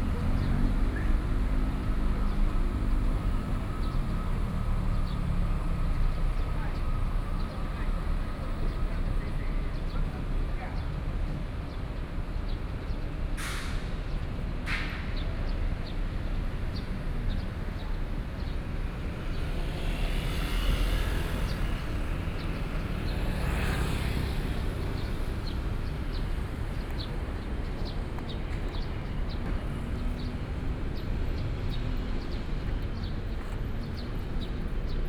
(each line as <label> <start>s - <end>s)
Traffic Sound 0.0s - 10.7s
Traffic Sound 16.0s - 35.0s